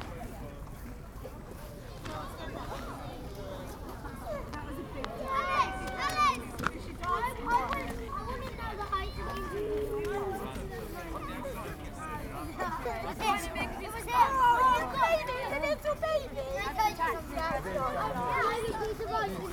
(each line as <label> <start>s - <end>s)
kids playing with the ice 1.8s - 11.8s